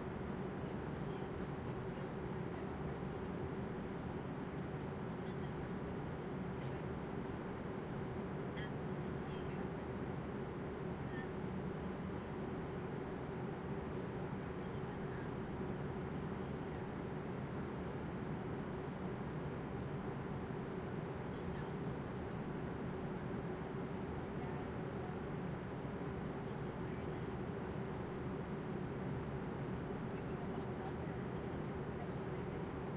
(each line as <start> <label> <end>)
0.1 lowlevel english walla 32.9